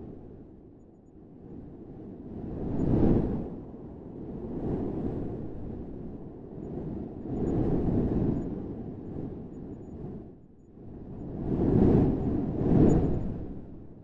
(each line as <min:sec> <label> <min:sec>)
0:00.0 Low Wind Gusts 0:14.0